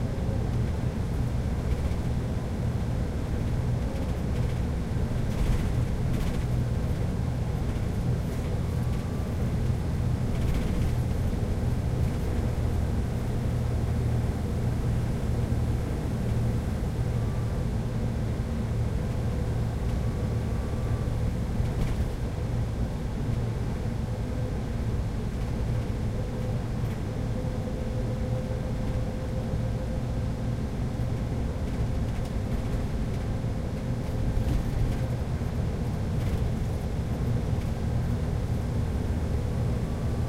0.0s Sound inside bus 40.2s

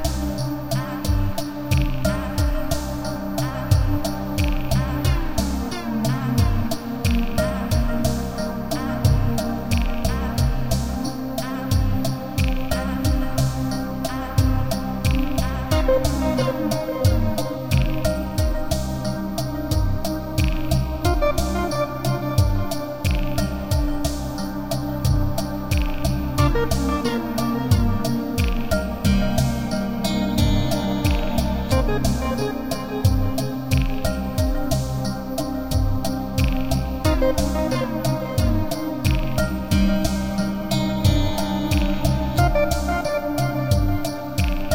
0.0s Ambient electronic music 44.7s

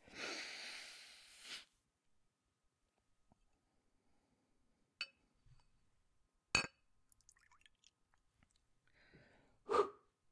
6.6s man is pouring and drinking 3 vodka shots 8.6s

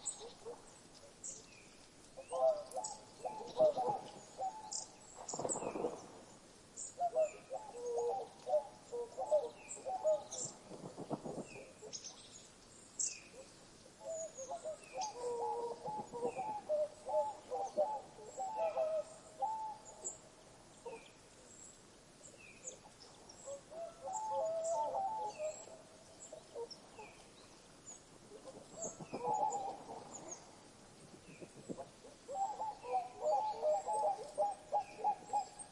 0.0s Swans 6.2s
0.0s birdsong 35.7s
6.9s Swans 21.5s
22.3s Swans 35.7s

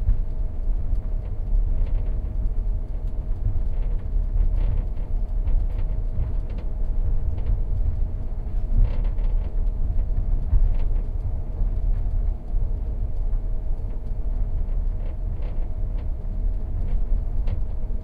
3.4s rattling and creaking of various objects 12.5s
13.8s rattling and creaking of various objects 18.0s

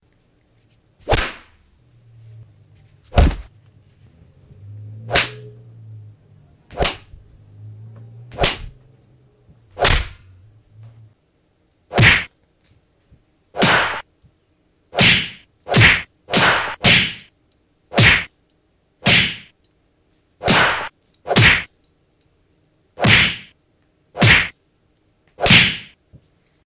1.0s punch 1.5s
1.0s whip 1.5s
1.0s slap 1.6s
3.1s punch 3.5s
3.1s kick 3.5s
3.1s slap 3.5s
5.1s slap 5.5s
5.1s punch 5.4s
5.1s whip 5.5s
6.7s punch 7.1s
6.7s kick 7.1s
6.7s whip 7.1s
6.7s slap 7.2s
8.3s kick 8.8s
8.3s whip 8.8s
8.3s slap 8.8s
8.4s punch 8.7s
9.8s kick 10.2s
9.8s punch 10.2s
9.8s whip 10.2s
9.8s slap 10.2s
11.9s kick 12.3s
11.9s punch 12.3s
11.9s slap 12.3s
11.9s whip 12.3s
13.6s kick 14.0s
13.6s punch 14.0s
13.6s whip 14.0s
13.6s slap 14.1s
15.0s kick 17.2s
15.0s punch 17.2s
15.0s whip 17.3s
15.0s slap 17.3s
17.9s punch 18.3s
17.9s slap 18.3s
17.9s whip 18.3s
18.0s kick 18.3s
19.0s punch 19.5s
19.0s slap 19.5s
19.0s whip 19.5s
20.4s punch 21.7s
20.4s whip 21.7s
20.4s slap 21.7s
20.5s kick 21.7s
23.0s kick 23.5s
23.0s punch 23.5s
23.0s whip 23.5s
23.0s slap 23.6s
24.2s punch 24.6s
24.2s slap 24.6s
24.2s whip 24.6s
24.2s kick 24.5s
25.4s punch 26.0s
25.4s slap 26.0s
25.4s whip 26.0s
25.4s kick 26.0s

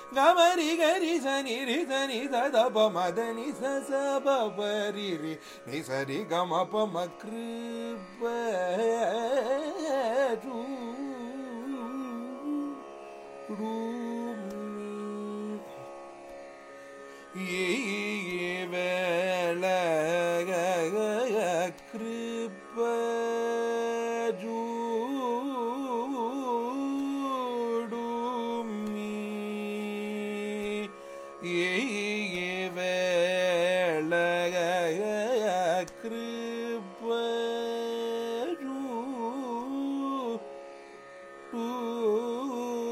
0.0s Carnatic varnam 42.9s

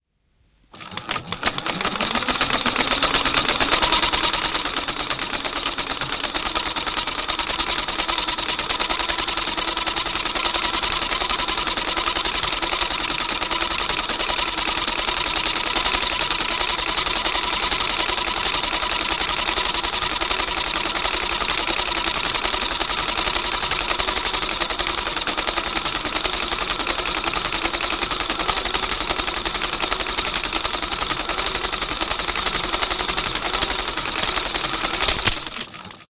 0.7s Old film projector rolling 36.1s
34.1s film snaps 35.7s

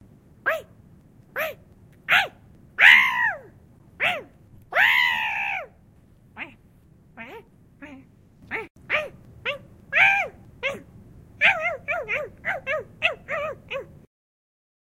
1.4s yells 5.8s
7.2s Silly gremlin-y sounds 13.9s

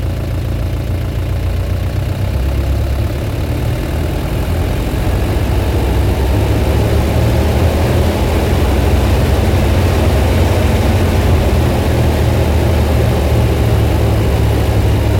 0.0s engine off 15.1s
1.8s engine rpm ramps 15.1s

